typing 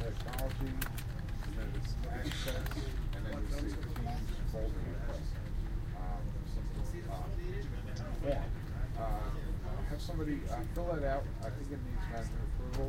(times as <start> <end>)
0.0 4.4